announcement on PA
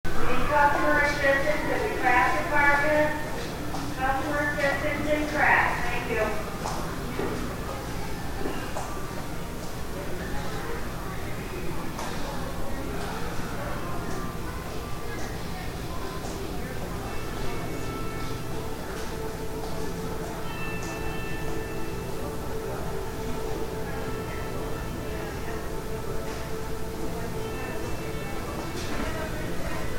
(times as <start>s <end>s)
0.1s 6.6s